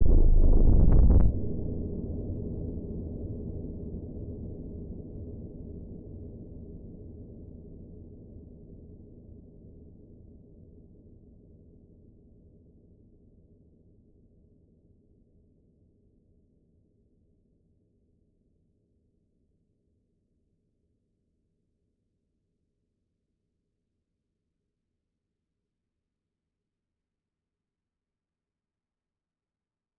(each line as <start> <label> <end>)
0.0 synth 2.0